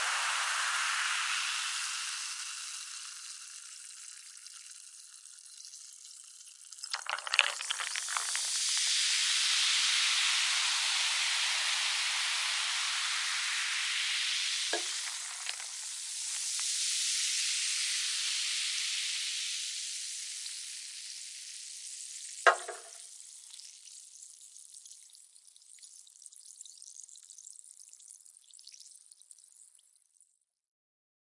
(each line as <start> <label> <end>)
0.0 carbonated drink being poured into a glass 11.6
6.8 can being opened 8.9
13.8 carbonated drink being poured into a glass 17.4
14.7 can being opened 15.9
22.2 carbonated drink being poured into a glass 24.1
22.5 can being opened 23.0